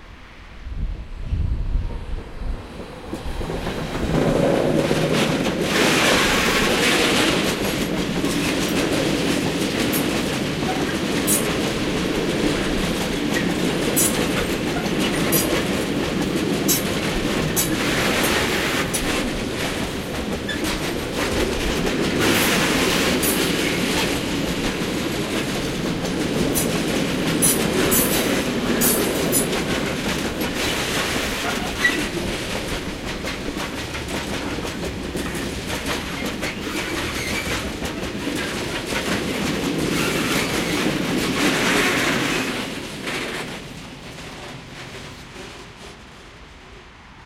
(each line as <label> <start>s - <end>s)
Freight train passes by 0.0s - 47.2s